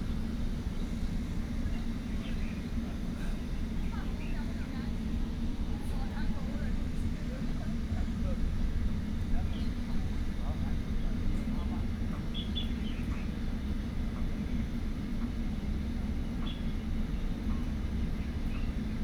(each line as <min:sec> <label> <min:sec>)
0:12.3 Birdsong 0:13.3